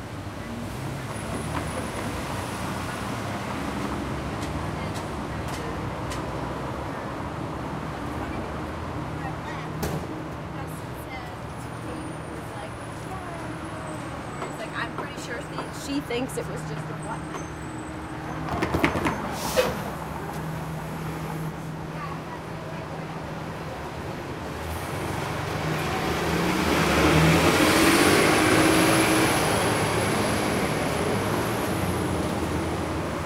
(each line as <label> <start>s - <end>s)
Traffic 0.0s - 33.2s